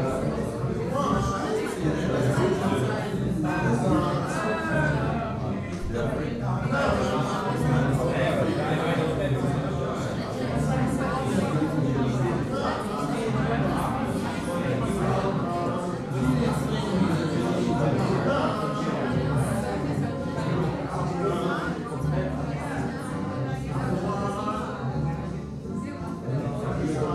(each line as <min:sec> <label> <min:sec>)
0:00.0 bar people 0:27.1